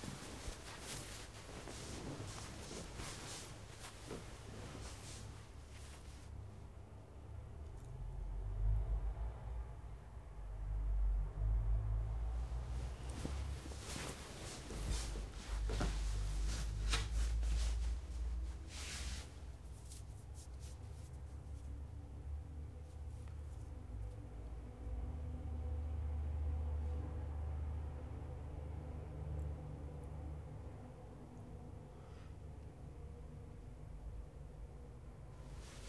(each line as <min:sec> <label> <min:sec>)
0:00.0 one person on bed 0:06.7
0:12.3 one person on bed 0:21.8
0:35.4 one person on bed 0:35.8